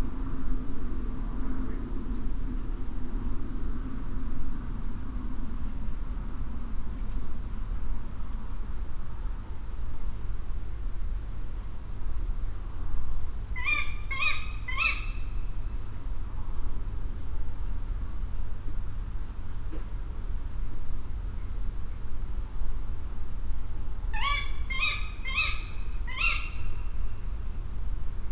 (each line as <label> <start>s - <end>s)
Female Tawny Owl 13.6s - 15.3s
Female Tawny Owl 24.2s - 27.0s